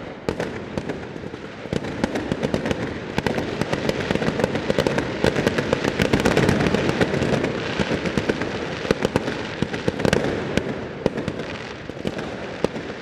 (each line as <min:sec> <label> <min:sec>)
0:00.0 fireworks 0:13.0